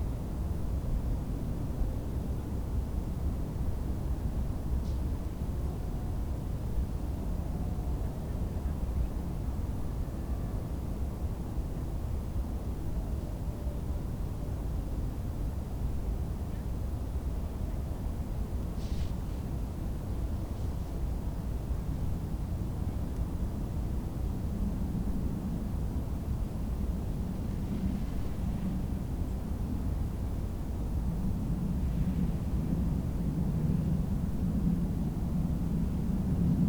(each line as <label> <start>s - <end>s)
motorway a100 in the background 0.0s - 36.6s
windy 0.0s - 36.6s